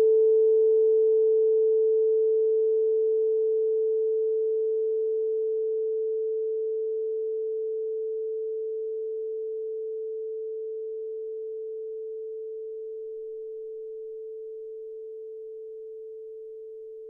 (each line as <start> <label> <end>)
0.0 tuning fork with resonance box 17.0